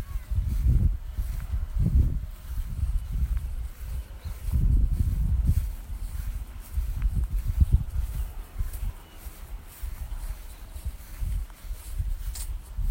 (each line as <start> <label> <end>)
0.0 walking on a gravelly path 12.9
0.0 wind noise 12.9
2.4 birdsong 7.0
7.6 birdsong 11.6